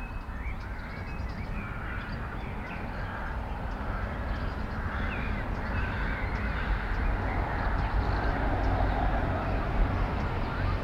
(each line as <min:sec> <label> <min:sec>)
0:00.0 Birds 0:10.8
0:00.0 a plane 0:10.8
0:00.0 traffic 0:10.8